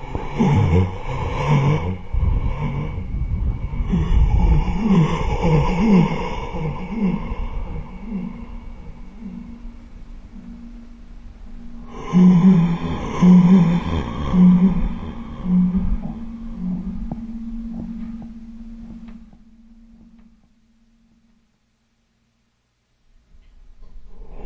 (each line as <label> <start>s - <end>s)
Heavy shuddering inward breaths 0.0s - 10.6s
feedback 0.0s - 21.9s